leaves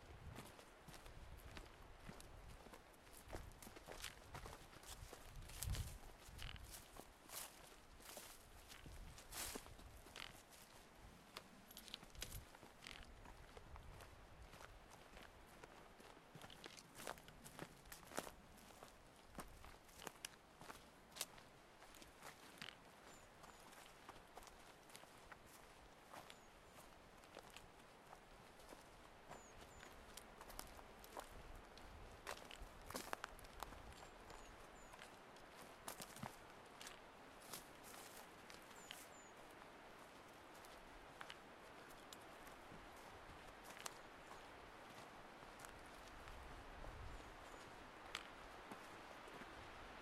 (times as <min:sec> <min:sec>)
0:01.5 0:14.0, 0:32.2 0:50.0